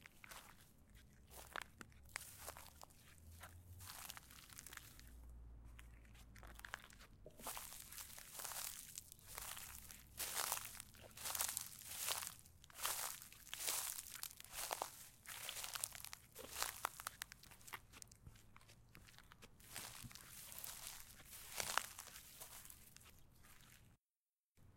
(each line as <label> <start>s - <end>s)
footsteps 5.7s - 23.9s